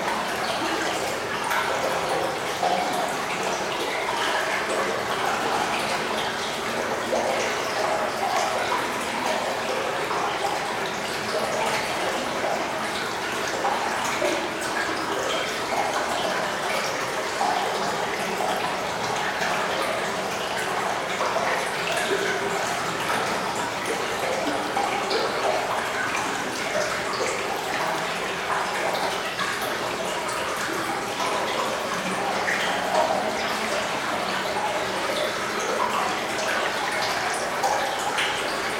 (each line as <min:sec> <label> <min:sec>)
0:00.0 Water quietly flowing 0:38.7